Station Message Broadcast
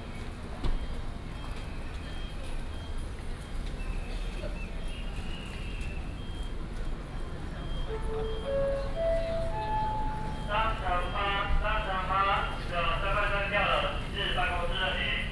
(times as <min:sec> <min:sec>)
0:07.8 0:15.3